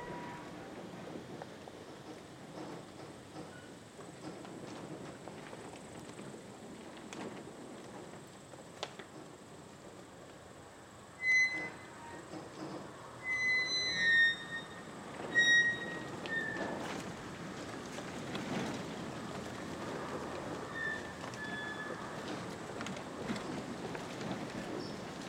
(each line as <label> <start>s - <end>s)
Grand wind play inside of old farm building 0.0s - 25.2s